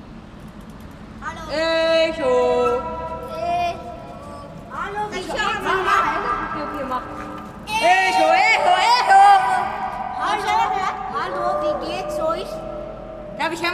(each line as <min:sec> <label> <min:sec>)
0:00.0 echoes of the concrete space 0:13.7
0:01.2 local kids 0:13.7